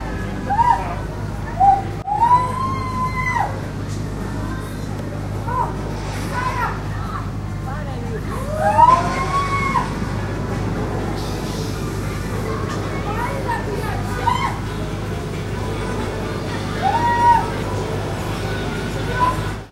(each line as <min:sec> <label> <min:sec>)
0:08.5 screams of girls 0:10.0
0:16.8 screams of girls 0:17.6